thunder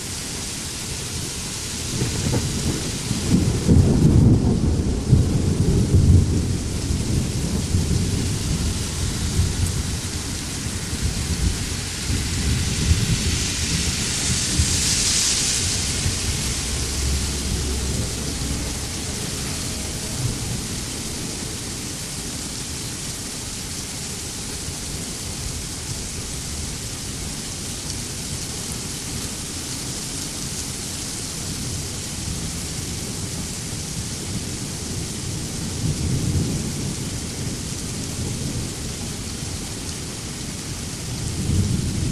0:01.9 0:21.6, 0:41.2 0:42.1

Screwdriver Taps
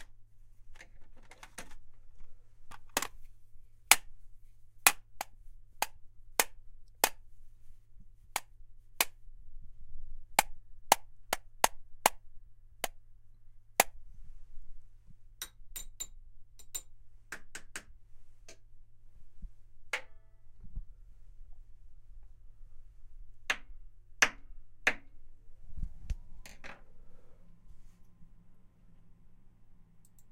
0:15.4 0:17.9

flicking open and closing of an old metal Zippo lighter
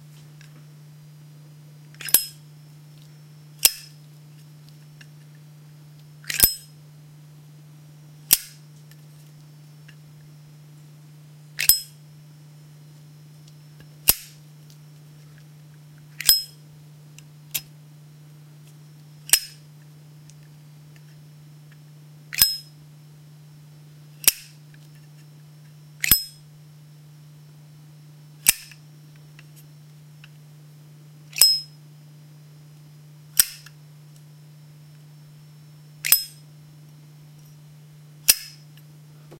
0:02.0 0:02.4, 0:03.6 0:04.0, 0:06.2 0:06.6, 0:11.6 0:11.9, 0:16.2 0:16.5, 0:19.3 0:19.6, 0:22.3 0:22.6, 0:24.2 0:24.6, 0:26.0 0:26.4, 0:28.4 0:28.8, 0:31.4 0:31.7, 0:33.4 0:33.8, 0:36.0 0:36.4, 0:38.3 0:38.6

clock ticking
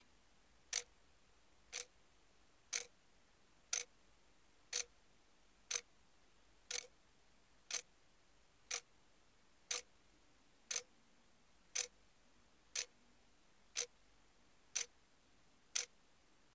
0:00.7 0:00.9, 0:01.7 0:02.0, 0:02.7 0:03.0, 0:03.7 0:03.9, 0:04.7 0:04.9, 0:05.7 0:05.9, 0:06.7 0:07.0, 0:07.7 0:07.9, 0:08.7 0:08.9, 0:09.7 0:09.9, 0:10.7 0:10.9, 0:11.7 0:12.0, 0:12.7 0:13.0, 0:13.7 0:14.0, 0:14.7 0:15.0, 0:15.7 0:16.0

